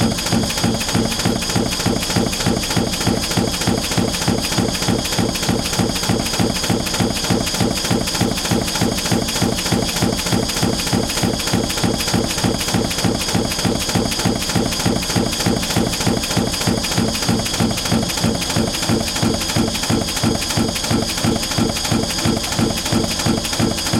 0.0s motor 23.9s
0.0s pump 23.9s

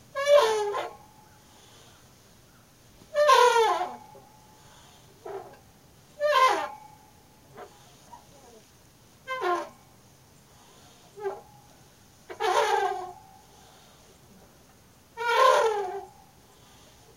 0.0s swinging on a swing set with beautifully rusted joints 17.1s

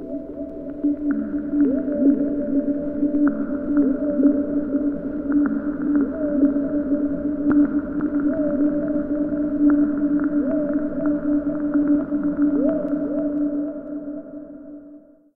0.0s aquatic electronica interlude 15.2s

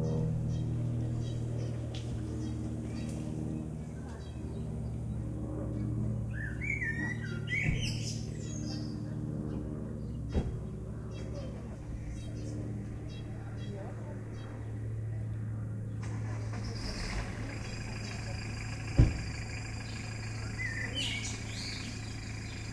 0.0s birds close 22.7s
0.0s voices far away 22.7s
9.5s two cars 15.3s
15.9s two cars 22.7s

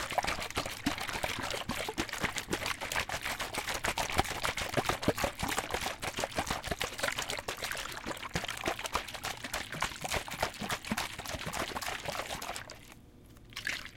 0.0s water 13.9s

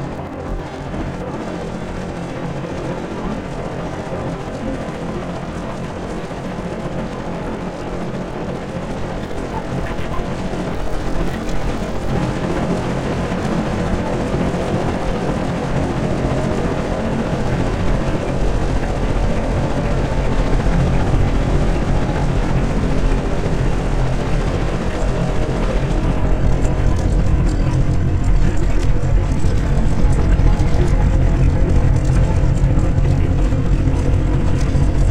0.0s AlienTalk 35.1s

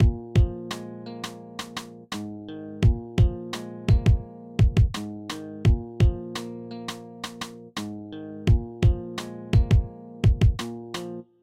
0.0s Guitar 11.4s

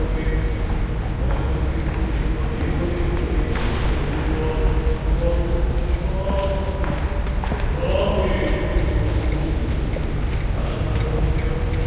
1.8s priest blessing people 9.5s

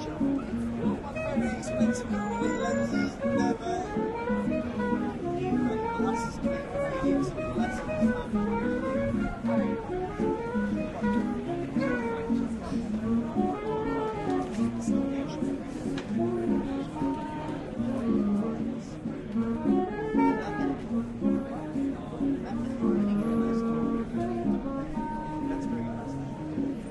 0.0s buskers 26.9s
0.0s chatting cafe sounds 26.9s
0.0s passers by walking on the sidewalk 26.9s

